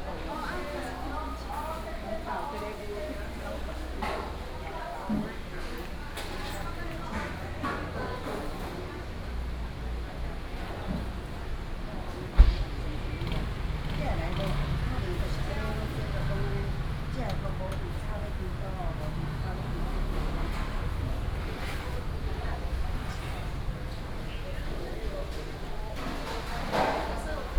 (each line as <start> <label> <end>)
0.0 traffic sound 27.5
0.0 walking in the Public retail market 27.5